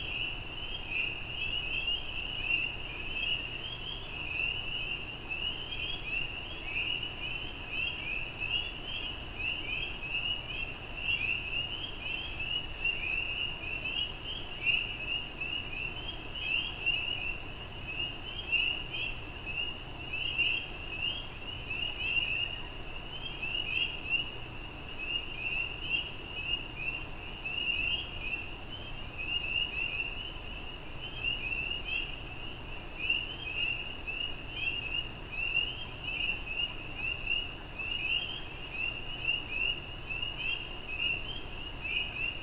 Tree Frogs 0.0 - 42.4

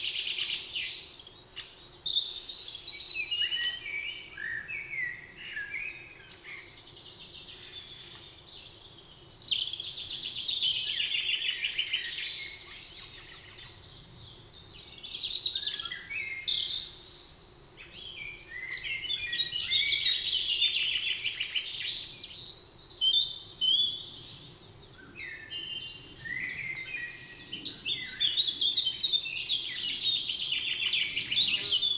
Common blackbird 0.0 - 31.9
Common robin 0.0 - 31.9
Eurasian Blackcap 0.1 - 31.9
Eurasian Blue Tit 0.2 - 31.9
Common Pheasant 3.2 - 31.9
Great Spotted Woodpecker 5.3 - 31.9
Common Wood Pigeon 17.8 - 31.9
Great Tit 30.9 - 31.9

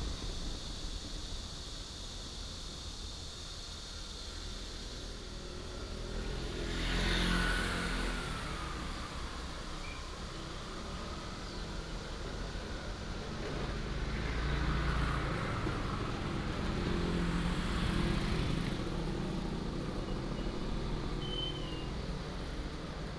The train runs through 0.0 - 6.6
Railroad Crossing 0.0 - 23.1
Cicada cry 3.8 - 13.1
Traffic sound 4.4 - 23.1
The train runs through 8.3 - 23.1
Cicada cry 16.1 - 23.0

